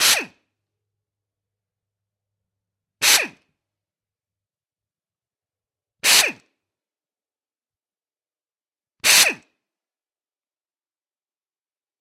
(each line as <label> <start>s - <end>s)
impact wrench 0.0s - 0.4s
impact wrench 3.0s - 3.4s
impact wrench 6.0s - 6.3s
impact wrench 9.0s - 9.4s